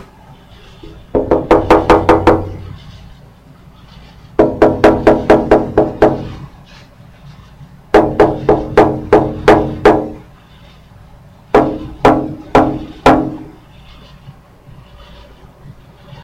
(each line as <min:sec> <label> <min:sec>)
0:01.1 knocking on a house window 0:02.6
0:04.4 knocking on a house window 0:06.4
0:07.9 knocking on a house window 0:10.2
0:11.5 knocking on a house window 0:13.5